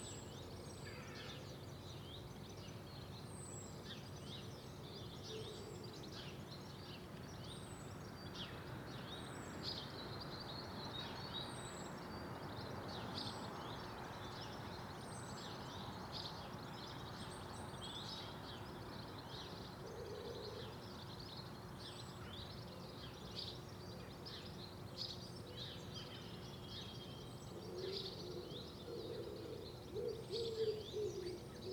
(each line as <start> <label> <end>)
0.0 distant blackbird’s song 31.7
0.8 crows 1.4